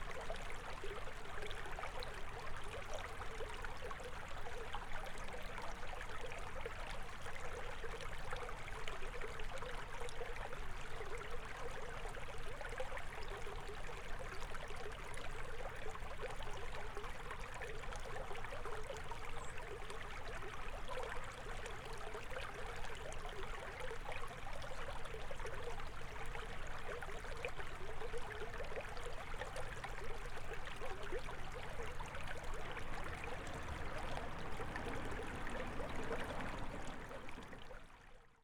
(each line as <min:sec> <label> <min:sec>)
0:00.0 Creek 0:38.4